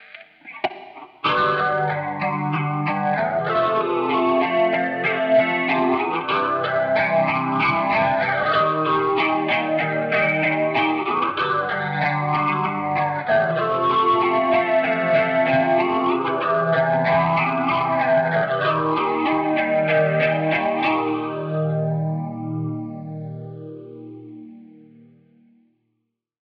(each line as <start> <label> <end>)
0.0 Shoegaze Guitar 190bpm Riff1 25.3